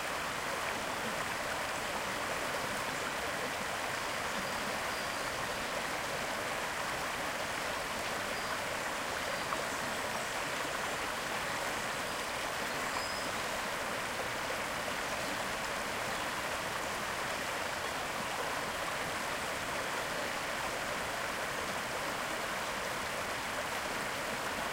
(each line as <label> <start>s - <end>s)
Water stream 0.0s - 24.7s
birds singing in the trees 2.5s - 6.4s
birds singing in the trees 7.6s - 13.8s
birds singing in the trees 15.0s - 17.8s